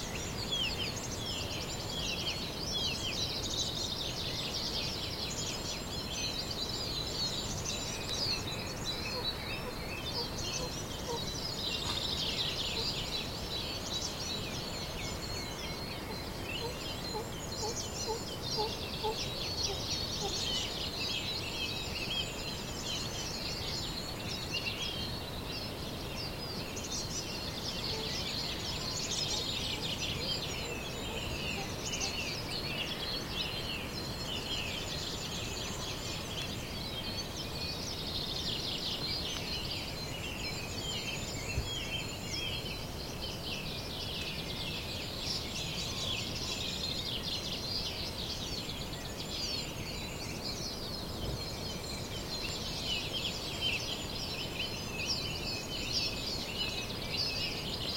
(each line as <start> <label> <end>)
0.0 morning bird song 57.9